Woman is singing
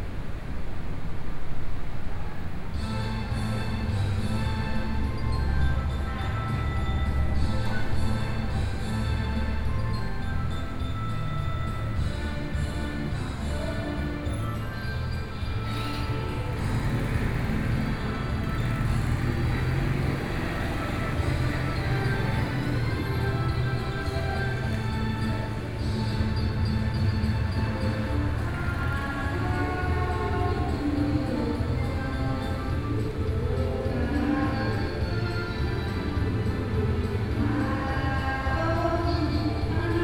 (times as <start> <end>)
12.4 14.8, 27.8 40.0